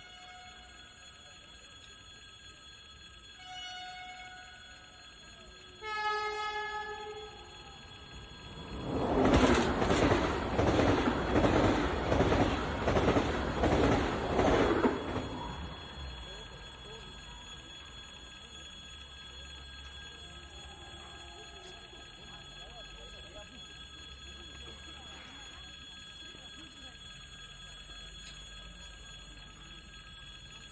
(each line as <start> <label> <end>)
5.3 fast Train is passing by 23.4